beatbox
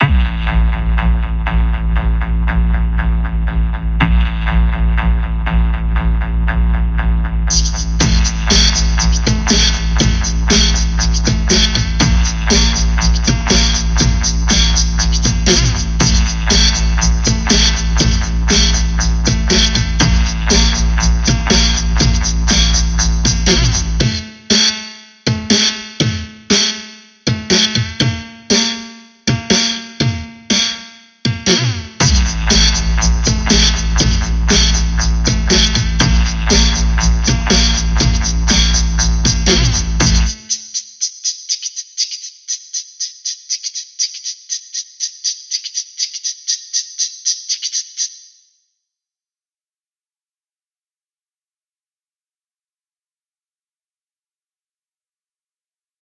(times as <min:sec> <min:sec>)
0:07.5 0:48.3